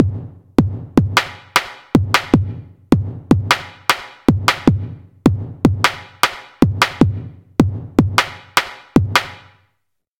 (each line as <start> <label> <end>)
0.0 drums 9.6